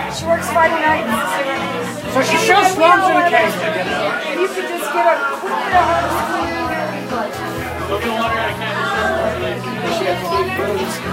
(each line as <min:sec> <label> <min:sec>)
0:00.0 crowd 0:11.1